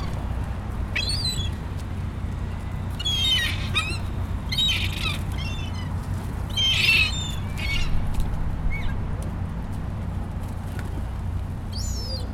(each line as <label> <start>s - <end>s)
Traffic 0.0s - 12.3s
pigeons eating bread crumbs 0.0s - 12.3s
seagulls 0.9s - 1.6s
seagulls 2.9s - 8.0s
seagulls 11.7s - 12.3s